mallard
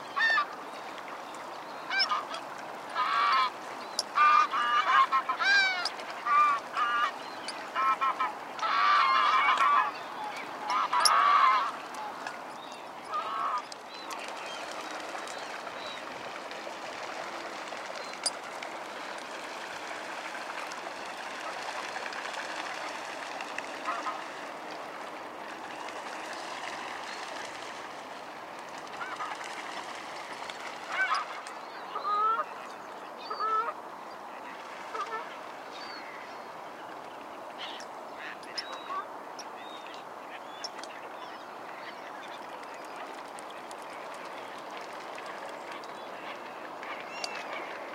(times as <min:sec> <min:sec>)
0:00.1 0:00.5, 0:01.9 0:03.6, 0:04.2 0:12.2, 0:13.1 0:13.7, 0:21.4 0:24.4, 0:28.9 0:29.7, 0:30.6 0:33.8, 0:34.5 0:35.4